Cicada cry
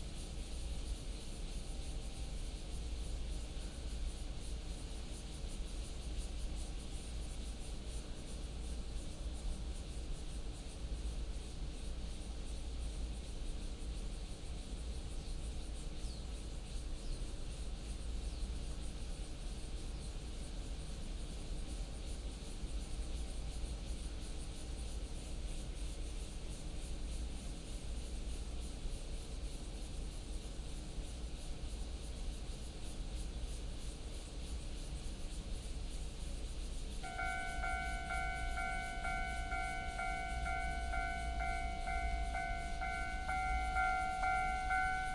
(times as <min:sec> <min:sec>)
0:36.1 0:45.1